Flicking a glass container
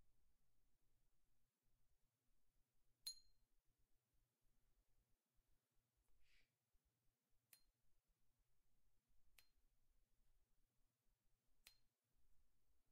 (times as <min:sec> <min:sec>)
0:03.0 0:03.3